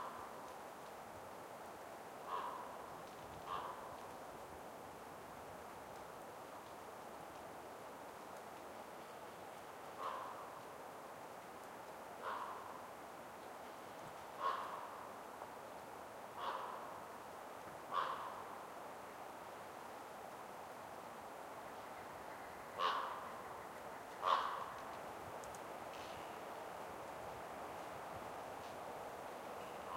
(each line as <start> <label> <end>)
0.0 wind in trees 29.9
2.2 crows and ravens cawing 2.8
3.4 crows and ravens cawing 4.1
10.0 crows and ravens cawing 10.6
12.2 crows and ravens cawing 12.9
14.3 crows and ravens cawing 15.2
16.4 crows and ravens cawing 17.1
17.9 crows and ravens cawing 18.6
22.6 crows and ravens cawing 26.4
29.6 crows and ravens cawing 29.9